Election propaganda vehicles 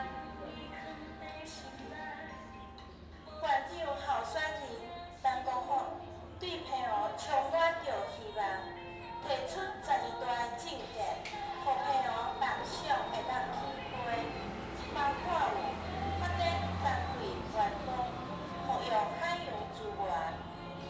11.4s 20.8s

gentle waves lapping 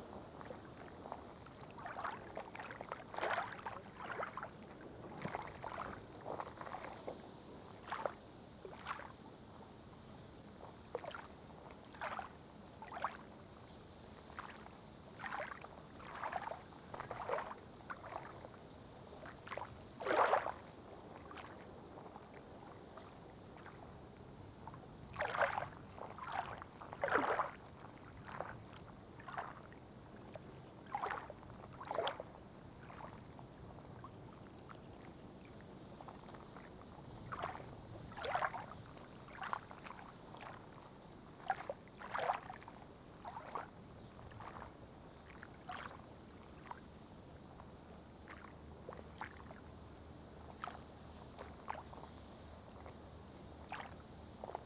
0.3s 9.1s, 14.3s 18.5s, 19.4s 23.8s, 25.1s 46.8s, 48.2s 49.7s, 50.4s 50.8s, 53.6s 54.6s

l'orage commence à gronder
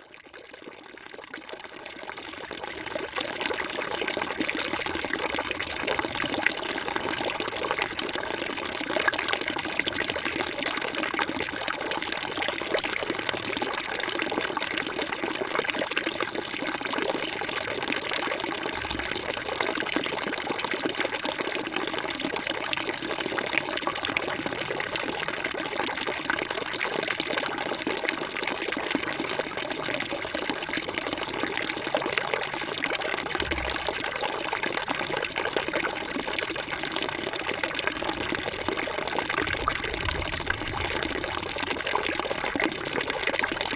18.3s 20.4s, 32.0s 43.7s

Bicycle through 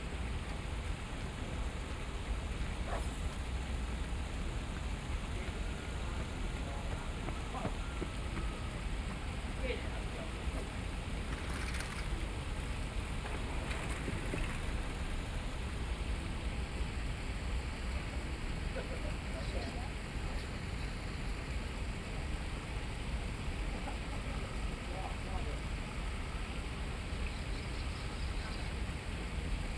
11.0s 15.4s

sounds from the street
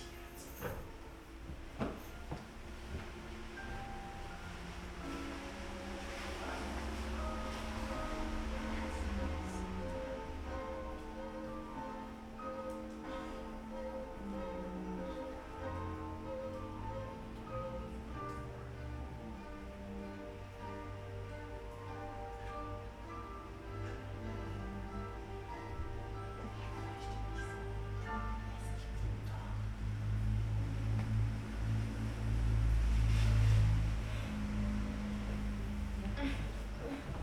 28.9s 37.2s

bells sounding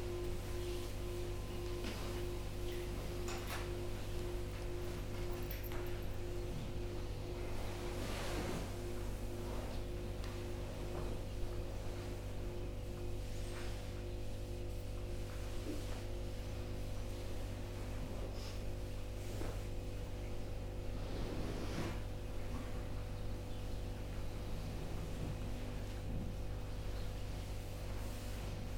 0.0s 9.6s

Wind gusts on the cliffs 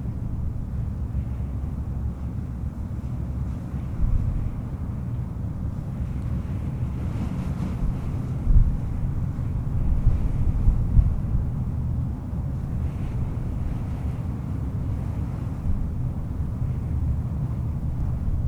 6.2s 18.4s

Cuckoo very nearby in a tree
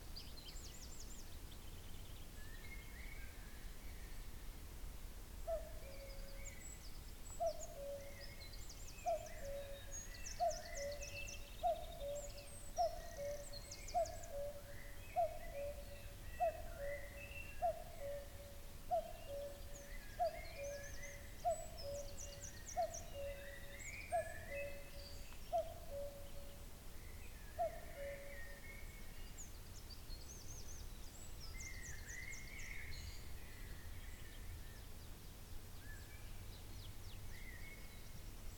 5.4s 34.9s

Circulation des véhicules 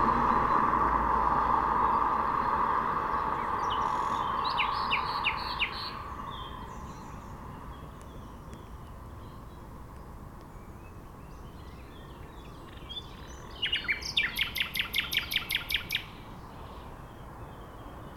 0.0s 9.1s

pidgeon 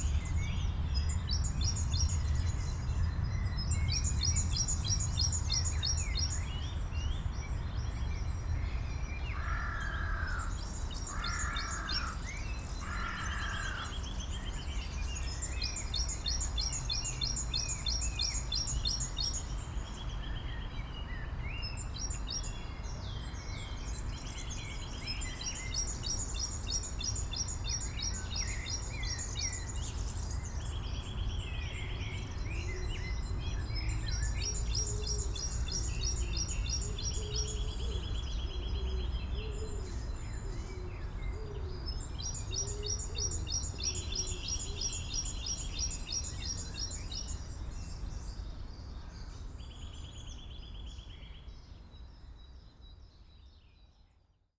38.6s 41.9s

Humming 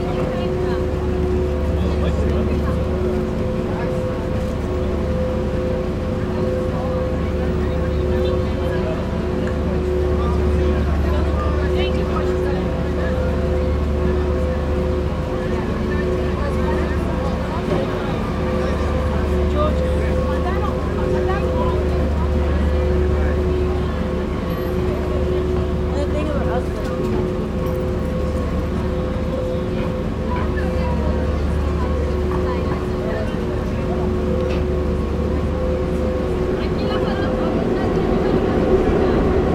33.8s 39.5s

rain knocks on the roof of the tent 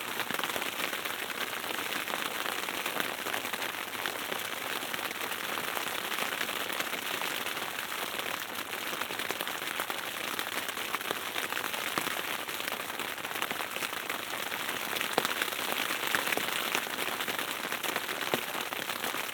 13.4s 19.3s

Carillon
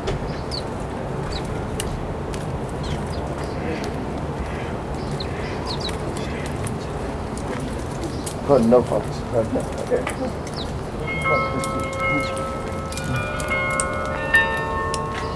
10.9s 15.3s

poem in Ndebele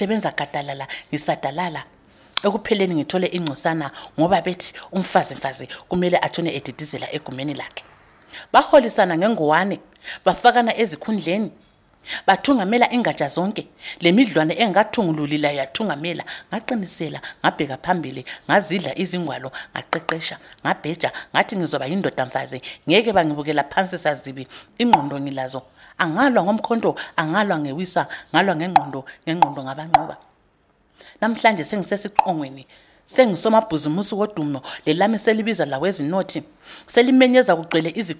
12.1s 30.3s, 31.2s 38.1s

